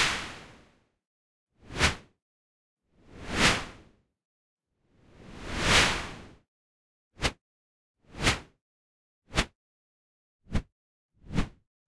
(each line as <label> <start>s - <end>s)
Swooshes, Swishes and Whooshes 3.0s - 3.9s
Swooshes, Swishes and Whooshes 5.0s - 6.4s
Swooshes, Swishes and Whooshes 7.2s - 7.4s
Swooshes, Swishes and Whooshes 9.3s - 9.6s
Swooshes, Swishes and Whooshes 10.5s - 11.6s